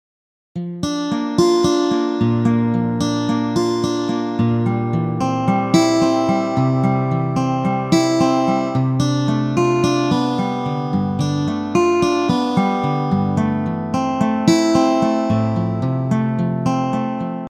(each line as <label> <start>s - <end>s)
Guitar chords 0.6s - 17.4s